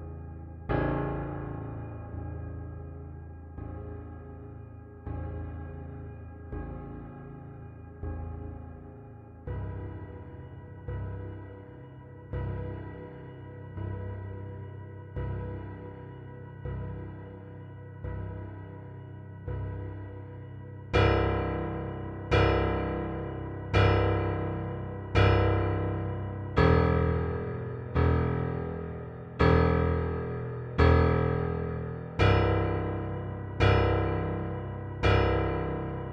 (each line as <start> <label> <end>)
0.0 piano 36.1